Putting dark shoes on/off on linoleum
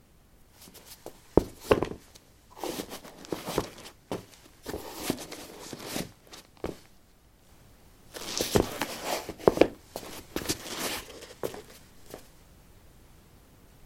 0:00.6 0:06.9, 0:08.2 0:12.3

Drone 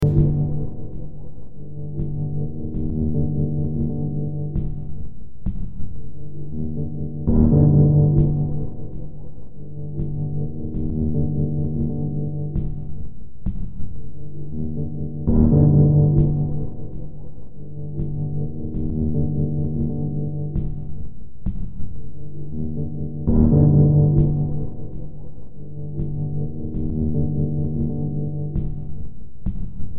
0:00.0 0:01.2

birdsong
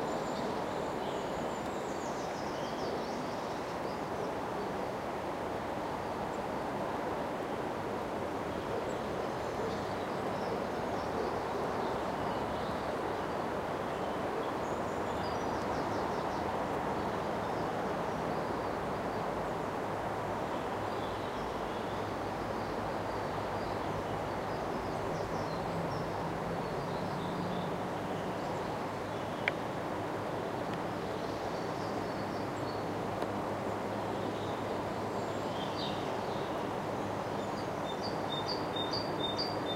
0:20.4 0:39.7

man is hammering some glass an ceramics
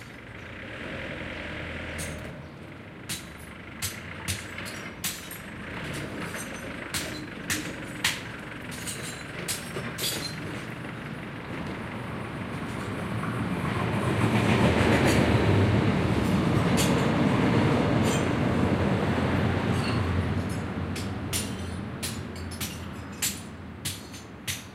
0:03.1 0:05.5, 0:06.3 0:10.4, 0:19.8 0:24.7

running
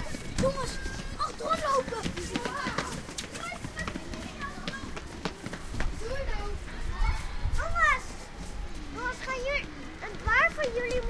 0:00.0 0:06.5

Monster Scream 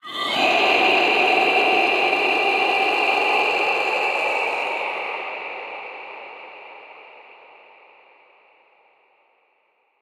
0:00.0 0:05.3

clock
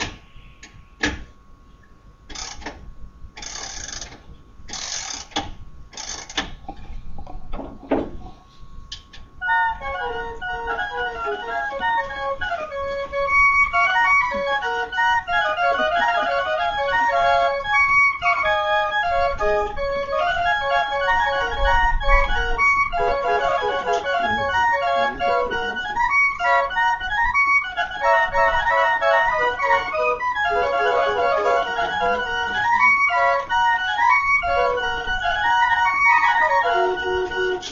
0:02.3 0:02.8, 0:03.4 0:06.5

